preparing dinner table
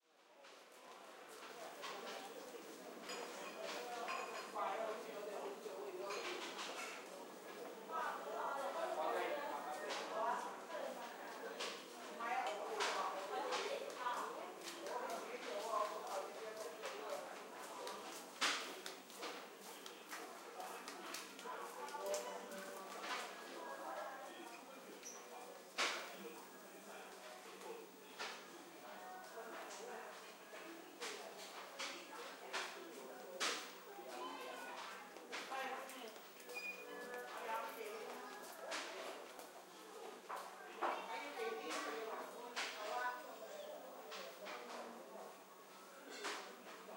0:11.5 0:46.9

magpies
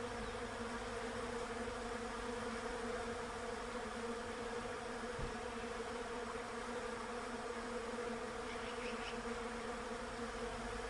0:08.4 0:09.5

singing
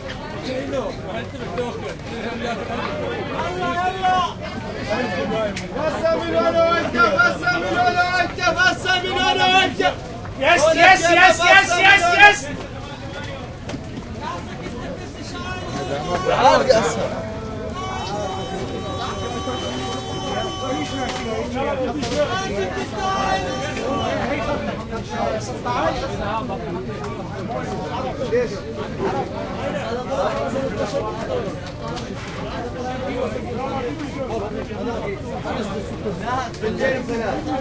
0:15.2 0:25.1

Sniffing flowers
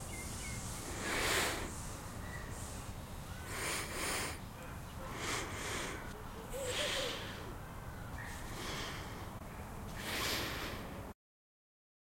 0:00.8 0:01.9, 0:03.5 0:07.6, 0:09.9 0:11.0

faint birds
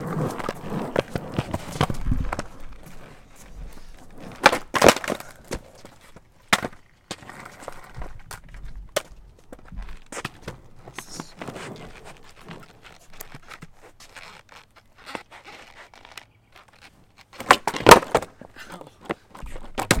0:15.8 0:16.9

